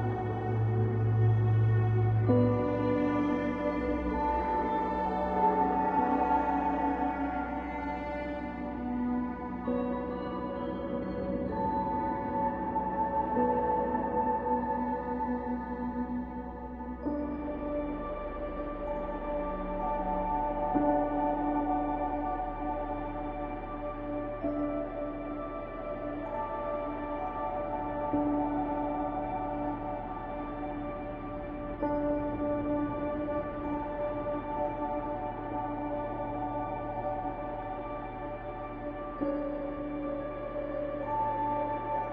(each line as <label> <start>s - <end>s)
Emotional washed pads 0.0s - 42.1s
Piano 0.0s - 42.1s